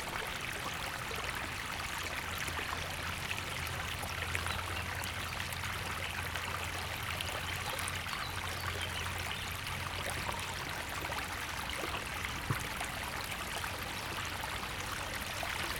river 0.0 - 15.7

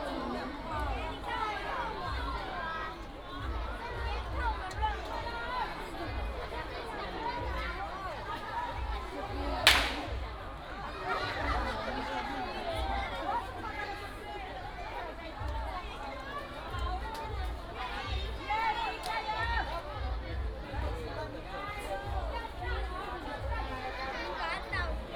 Cheer cheers 9.7 - 10.2

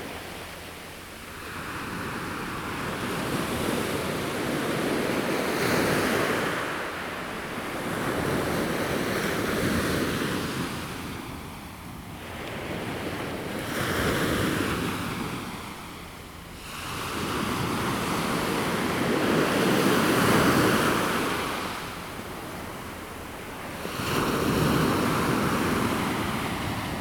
waves 0.0 - 27.0

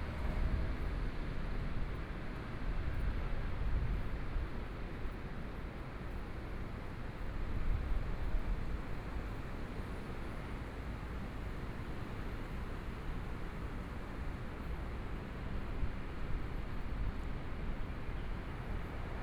walking in the Street 0.0 - 19.2

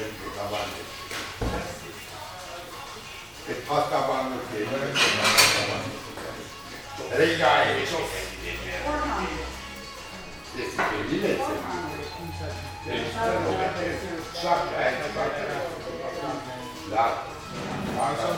old client is discussing with the old baker 0.0 - 18.3

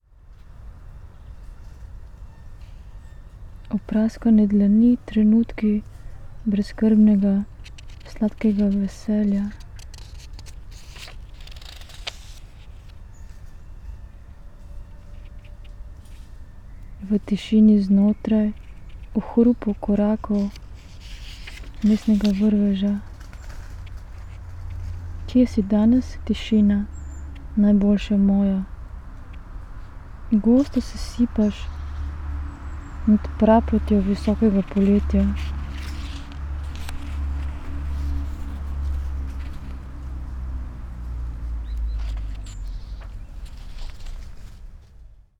reading poem 3.6 - 13.1
reading poem 16.9 - 44.6

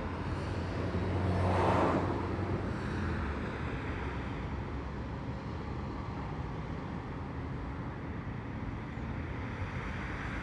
Dense morning traffic 0.0 - 10.4

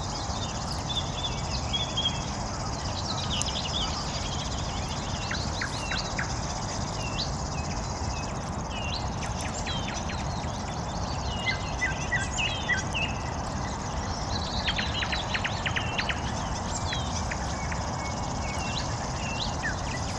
Birds 0.0 - 20.1
Campfire 0.0 - 20.1

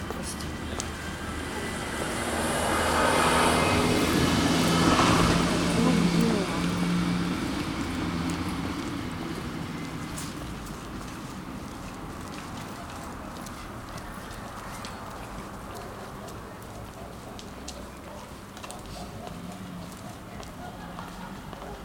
Workers returning to the housing estate 0.0 - 21.8

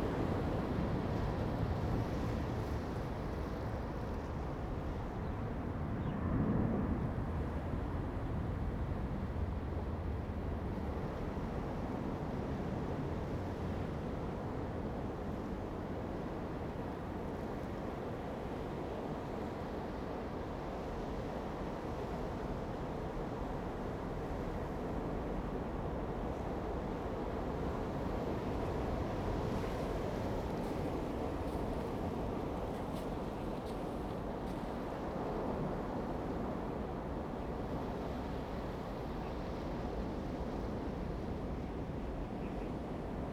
waves 0.0 - 43.3

